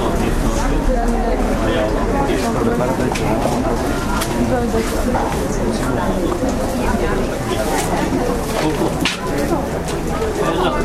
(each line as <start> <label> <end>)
0.0 market atmosphere V 10.8